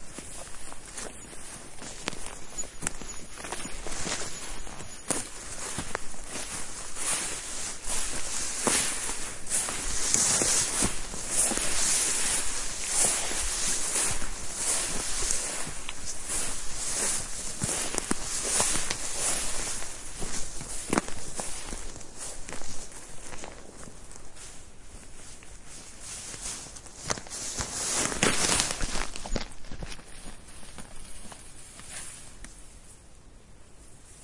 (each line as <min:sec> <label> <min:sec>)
0:00.0 birds 0:23.9
0:00.0 walk 0:32.9